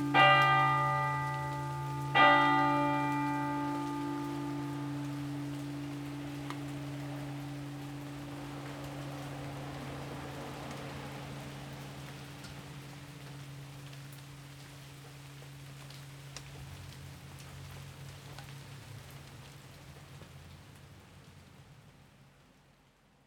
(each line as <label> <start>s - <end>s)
church bell 0.0s - 10.4s
rain 0.0s - 23.2s